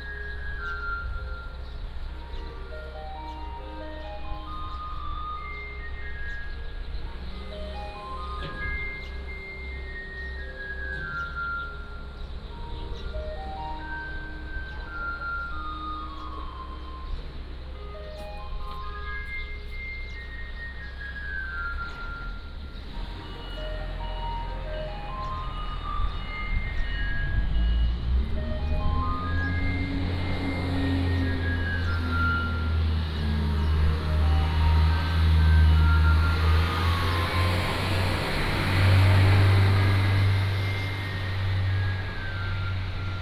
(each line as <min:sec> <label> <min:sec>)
0:00.0 Traffic Sound 0:43.2